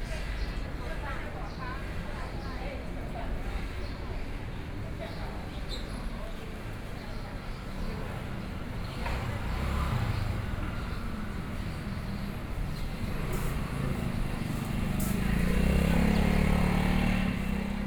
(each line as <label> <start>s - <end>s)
Traffic Sound 7.6s - 17.8s